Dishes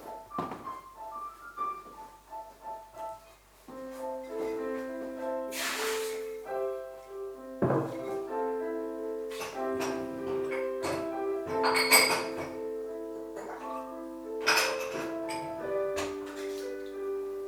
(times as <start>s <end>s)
9.3s 12.6s, 14.4s 16.6s